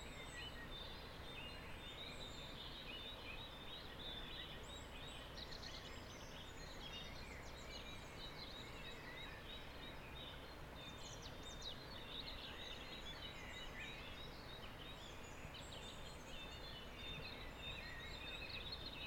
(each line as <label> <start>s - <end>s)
birds chorus 0.0s - 19.0s